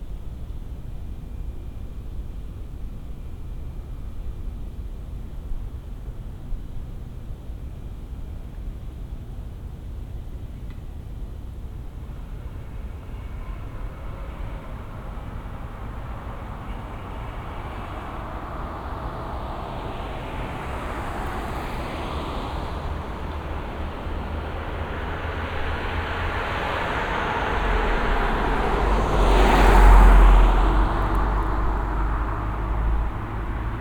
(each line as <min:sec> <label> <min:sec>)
0:00.0 wind 0:33.8
0:10.8 motor vehicles 0:33.8